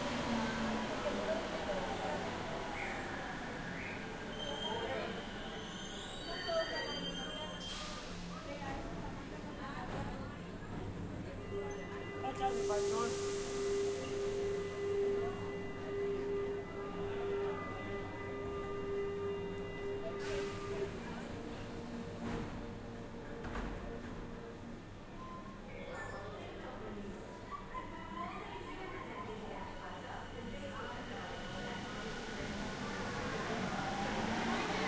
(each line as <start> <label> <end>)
0.0 train 34.8